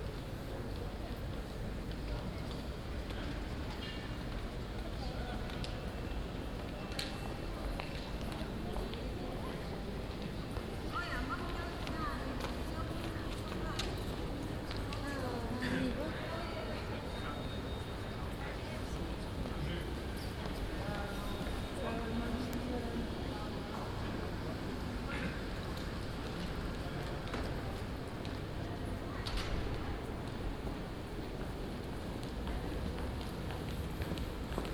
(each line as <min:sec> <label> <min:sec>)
0:00.0 People waiting in que 0:34.7